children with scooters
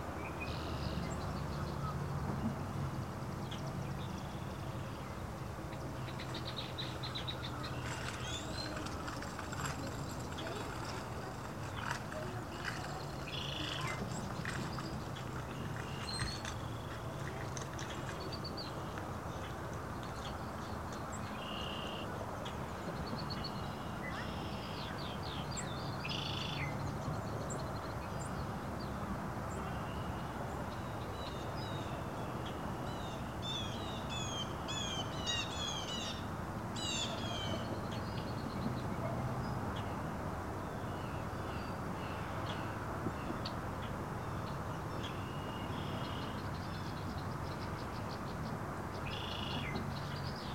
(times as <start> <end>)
7.8 14.9